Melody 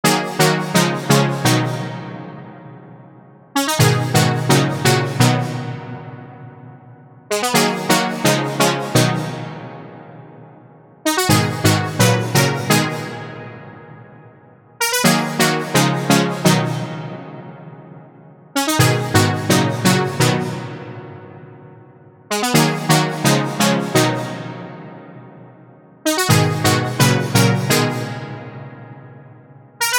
0:03.6 0:06.2, 0:11.0 0:13.9, 0:14.8 0:16.8, 0:26.1 0:28.2

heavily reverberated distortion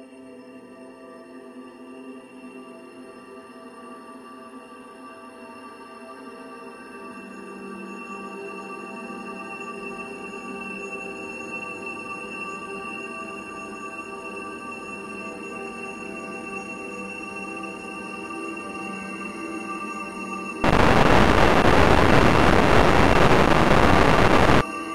0:20.6 0:24.6

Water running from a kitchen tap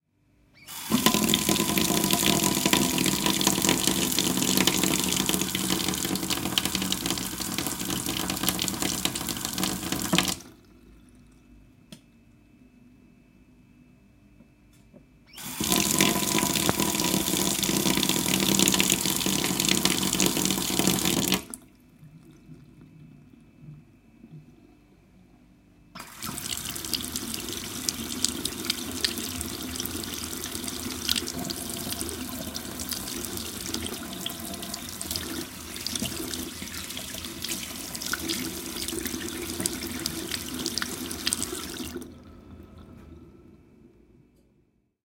0:00.7 0:10.6, 0:15.4 0:21.6, 0:26.0 0:42.2

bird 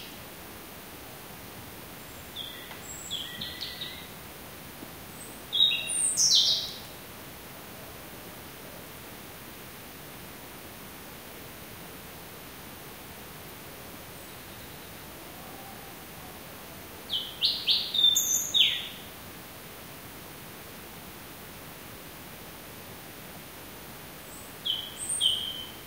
0:02.4 0:04.2, 0:17.1 0:19.0, 0:24.6 0:25.8

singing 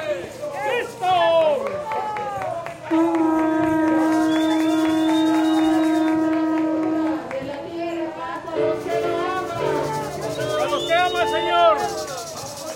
0:04.0 0:12.7

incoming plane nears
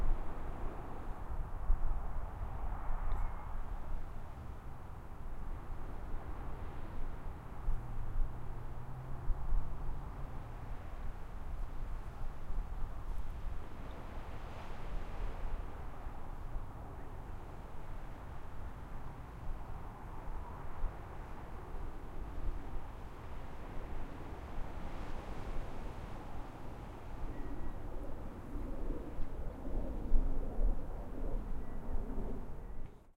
0:26.1 0:33.1

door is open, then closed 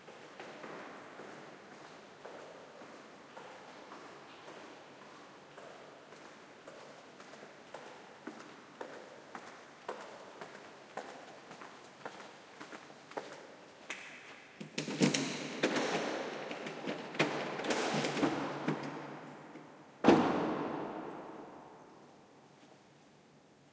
0:20.0 0:21.4

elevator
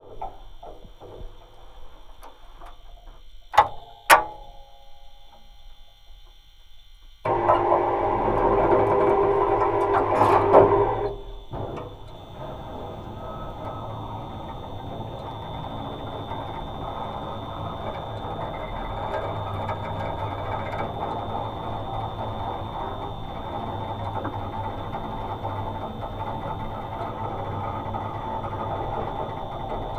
0:07.2 0:29.9

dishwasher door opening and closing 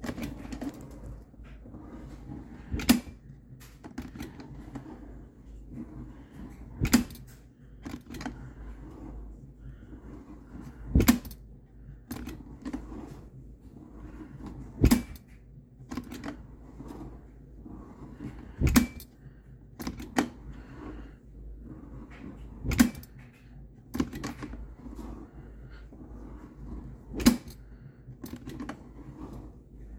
0:00.0 0:01.3, 0:02.6 0:03.2, 0:06.8 0:07.3, 0:10.9 0:11.4, 0:14.8 0:15.2, 0:18.6 0:19.1, 0:22.6 0:23.2, 0:27.1 0:27.6

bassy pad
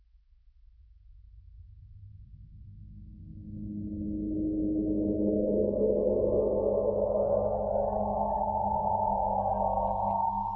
0:05.1 0:10.5

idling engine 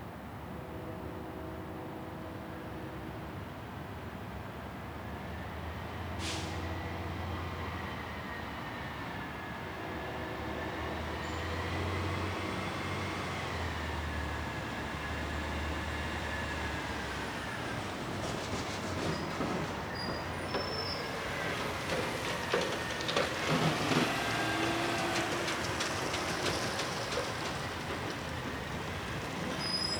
0:21.2 0:29.9

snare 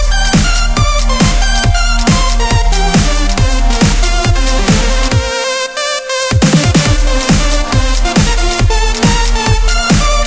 0:00.1 0:05.2

